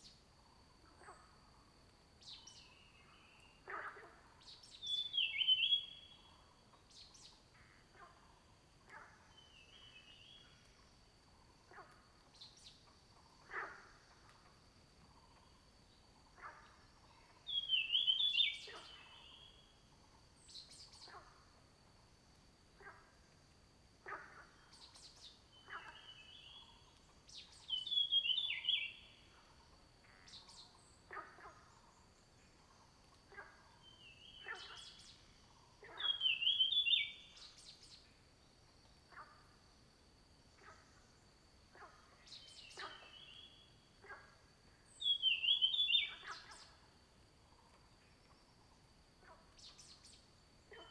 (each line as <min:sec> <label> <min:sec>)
0:02.2 Frogs chirping 0:21.7
0:24.0 Frogs chirping 0:50.9